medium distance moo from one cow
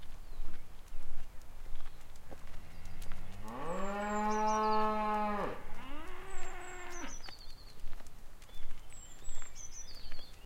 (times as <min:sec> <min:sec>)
0:03.3 0:07.1